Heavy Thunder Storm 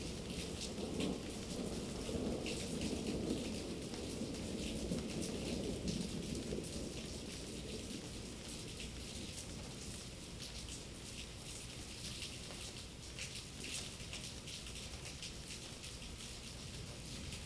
0:00.0 0:09.4

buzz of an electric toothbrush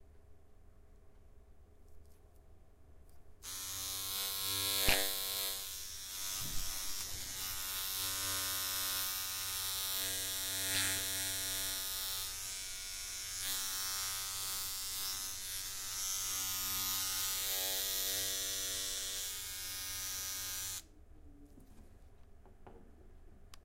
0:03.4 0:20.9

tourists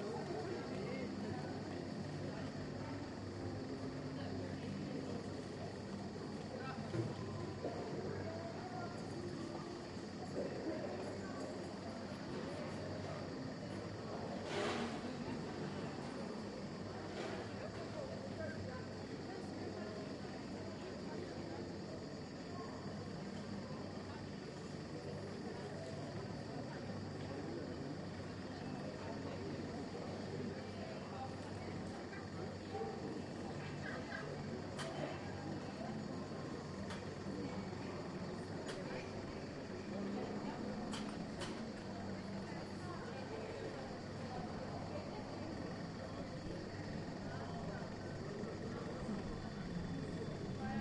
0:22.3 0:50.8

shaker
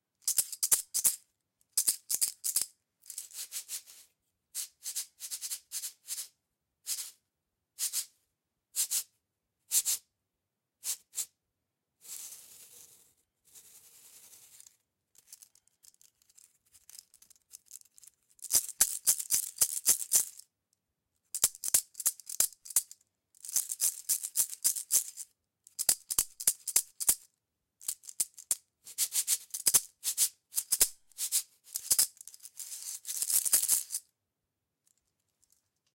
0:00.2 0:01.2, 0:01.8 0:04.0, 0:04.6 0:07.2, 0:07.8 0:08.1, 0:09.7 0:10.0, 0:12.0 0:20.4, 0:21.3 0:34.1

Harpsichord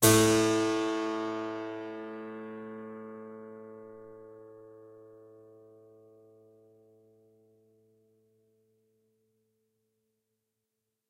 0:00.0 0:03.2

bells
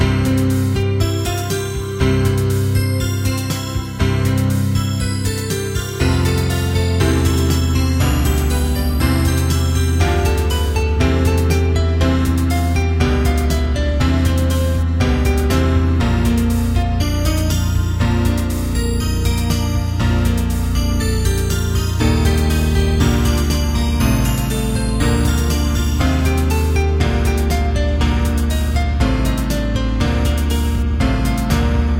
0:01.1 0:13.6, 0:17.0 0:29.6

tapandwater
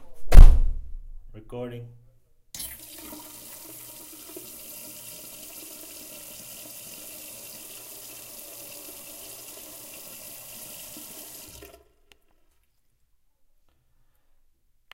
0:02.6 0:12.4

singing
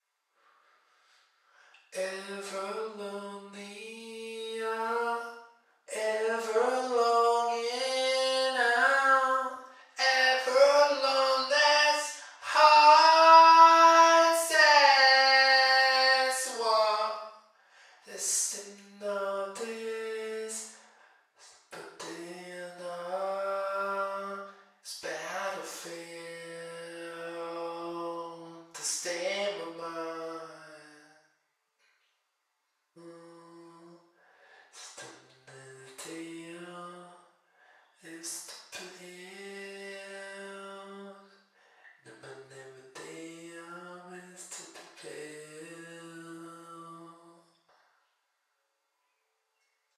0:02.0 0:17.3, 0:18.1 0:20.8, 0:21.4 0:31.1, 0:34.8 0:37.2, 0:38.0 0:41.4, 0:42.0 0:47.5

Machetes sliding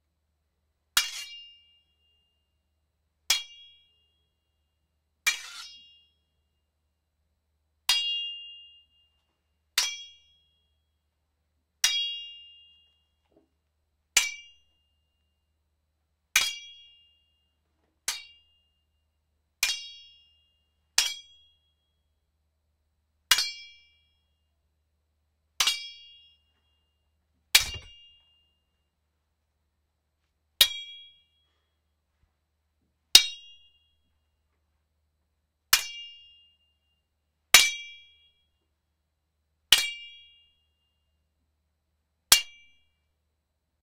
0:05.3 0:05.7

